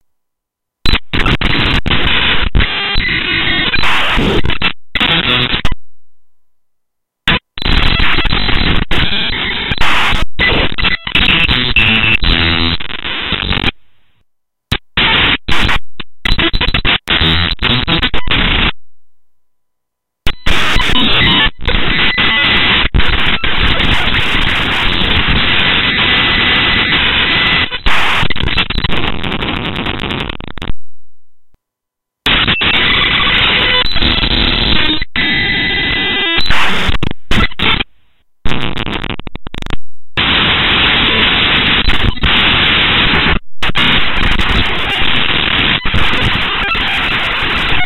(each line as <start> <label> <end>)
20.3 Broken Radar 30.7